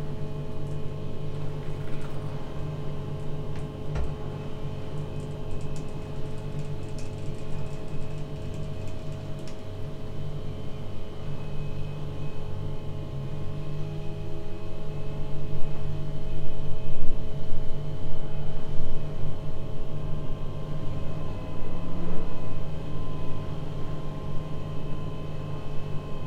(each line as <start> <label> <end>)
0.0 refrigerator 16.0